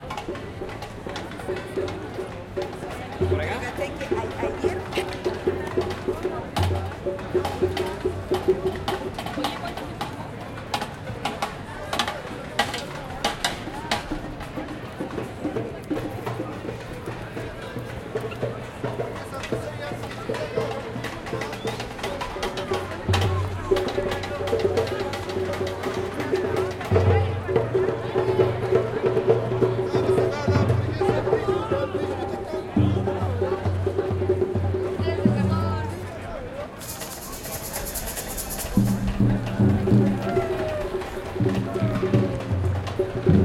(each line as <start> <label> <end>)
0.0 conversaciones 14.9
15.7 conversaciones 43.4
19.2 tambores 43.4